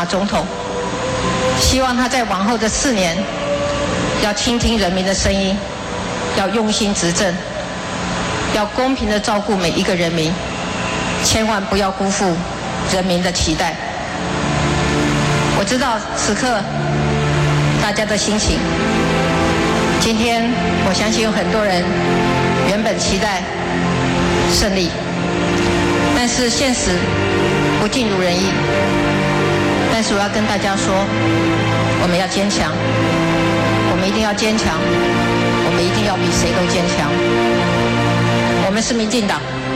Concession speech 0.0 - 10.5
Concession speech 11.2 - 39.7

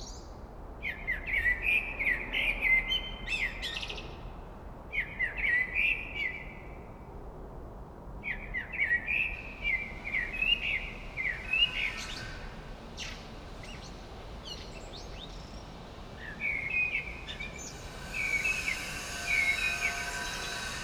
saw 8.5 - 20.8
air ventilation 9.0 - 20.8

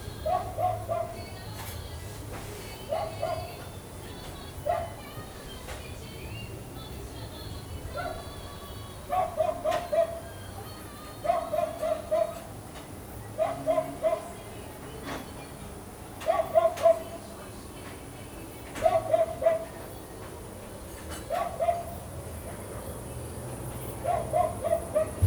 hotel-guests 0.0 - 25.2
street dogs 0.0 - 25.2

